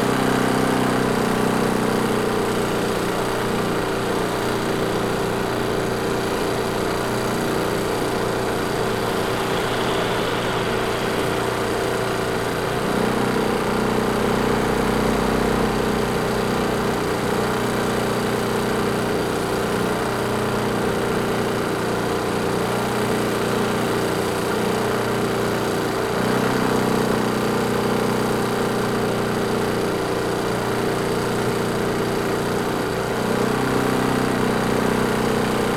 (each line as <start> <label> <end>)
0.0 loud portable electric generator 35.7
6.4 traffic sounds 17.2